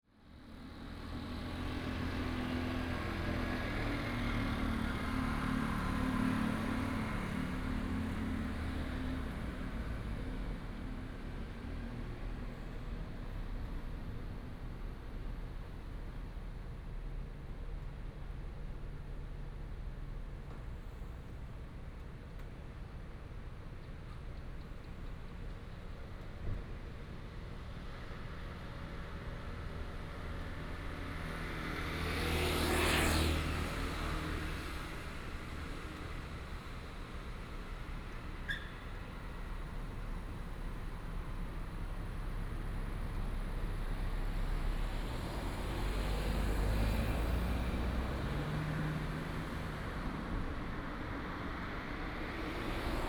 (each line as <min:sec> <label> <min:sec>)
0:00.2 Traffic sound 0:53.0